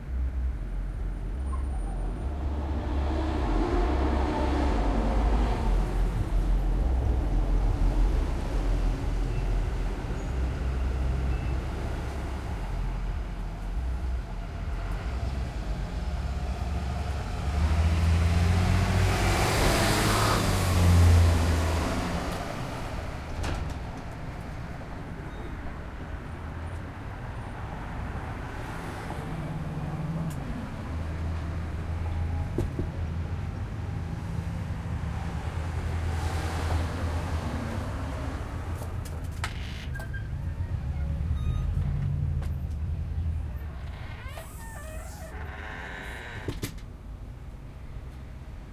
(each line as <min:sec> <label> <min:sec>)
0:00.0 cars and trucks driving by on a busy street 0:48.7
0:43.6 door opens periodically nearby 0:46.9